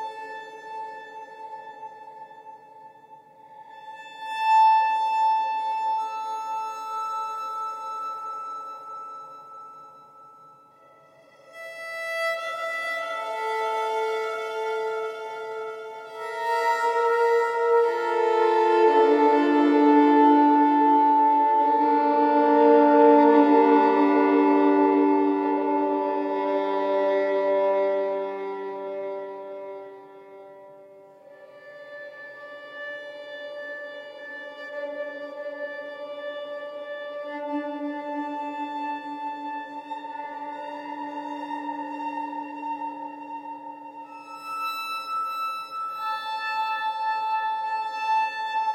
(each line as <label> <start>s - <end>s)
Violin riff 11.1s - 48.7s